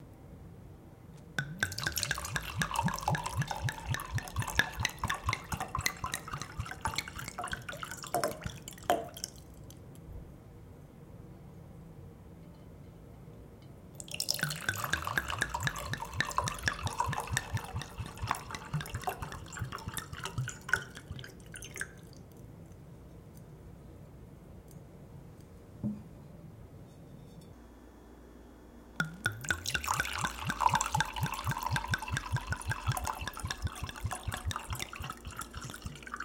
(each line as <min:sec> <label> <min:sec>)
0:01.4 Pouring liquid from wine bottle into glass 0:09.6
0:14.0 Pouring liquid from wine bottle into glass 0:22.2
0:29.0 Pouring liquid from wine bottle into glass 0:36.2